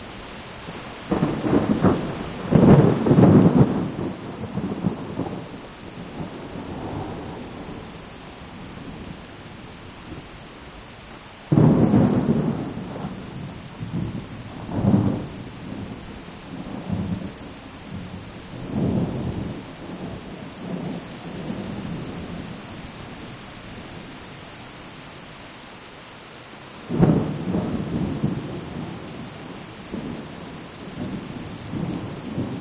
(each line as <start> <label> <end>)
0.0 Rain 32.6
1.1 Thunders 5.5
11.5 Thunders 15.9